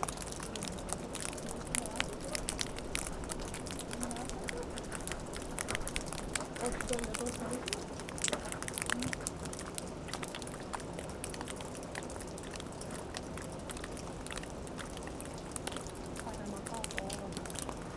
snow melts on the roof of old watermill 0.0 - 17.9

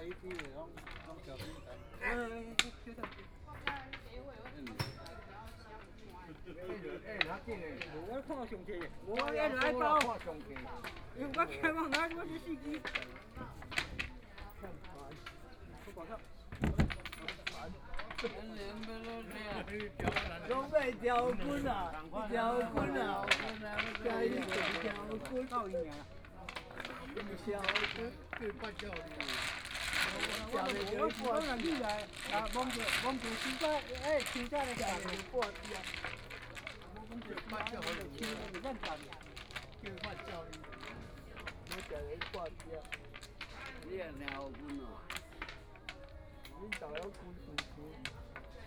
Dialogue among the elderly 0.0 - 48.6

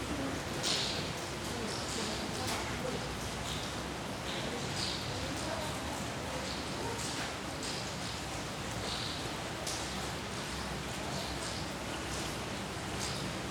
falling rain resonates in a carport tunnel 0.0 - 13.5

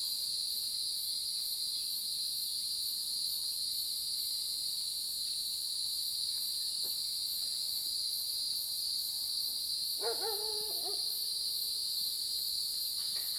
Cicadas sound 0.9 - 13.3
Dogs barking 10.0 - 11.2

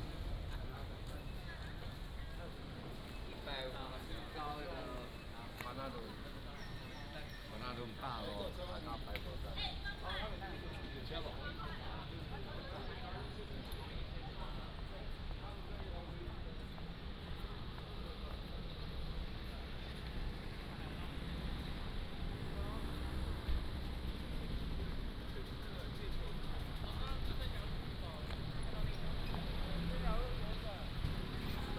Walking at the station 0.0 - 31.7

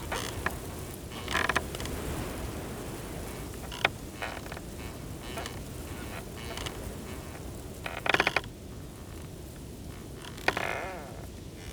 strong gusty wind hisses through the reeds 0.0 - 7.6
Creaking wooden gate in strong wind 0.0 - 11.7

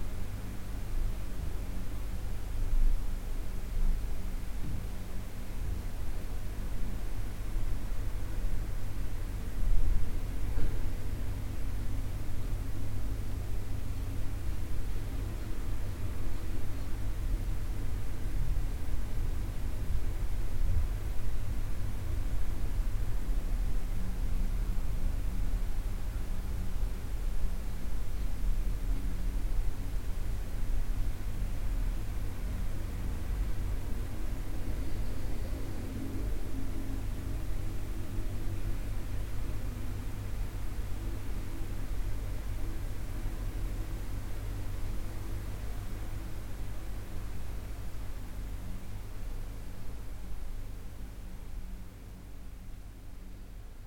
the fan running 0.0 - 53.8

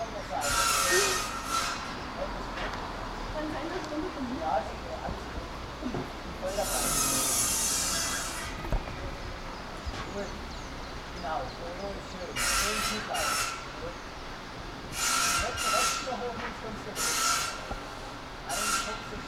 Sawing wood on circular saw 0.0 - 2.3
Sawing wood on circular saw 6.4 - 8.7
Sawing wood on circular saw 12.4 - 13.9
Sawing wood on circular saw 14.9 - 17.7
Sawing wood on circular saw 18.5 - 19.2

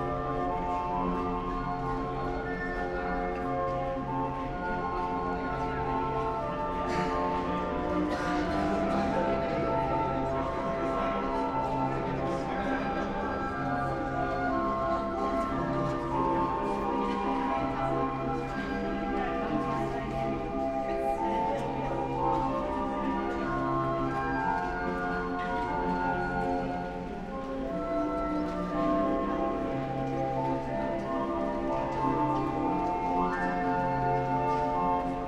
pedestrians passing by 0.0 - 35.2
street organ is continuously playing 0.0 - 35.2

